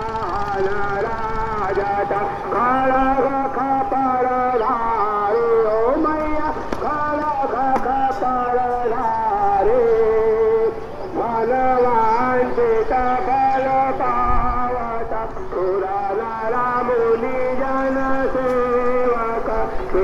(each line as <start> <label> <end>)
0.0 people 20.0